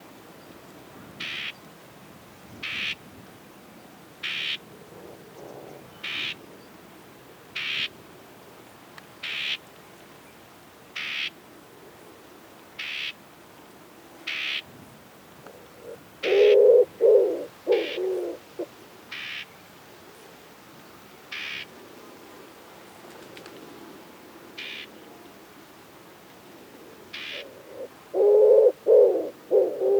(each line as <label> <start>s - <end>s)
common woodpigeon (Columba palumbus) duetting 1.0s - 1.6s
alarm call of a common whitethroat 1.0s - 1.6s
alarm call of a common whitethroat 2.6s - 3.0s
alarm call of a common whitethroat 4.2s - 6.5s
alarm call of a common whitethroat 7.6s - 7.9s
alarm call of a common whitethroat 9.2s - 9.7s
alarm call of a common whitethroat 11.0s - 11.4s
alarm call of a common whitethroat 12.8s - 13.2s
alarm call of a common whitethroat 14.3s - 14.7s
common woodpigeon (Columba palumbus) duetting 15.5s - 19.5s
alarm call of a common whitethroat 15.5s - 19.6s
alarm call of a common whitethroat 21.3s - 21.7s
alarm call of a common whitethroat 24.6s - 25.0s
common woodpigeon (Columba palumbus) duetting 26.7s - 29.9s
alarm call of a common whitethroat 27.1s - 29.9s